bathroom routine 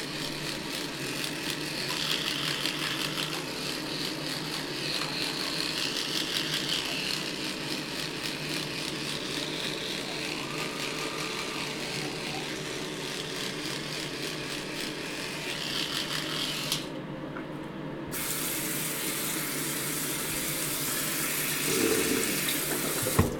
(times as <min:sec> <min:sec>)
0:18.1 0:23.3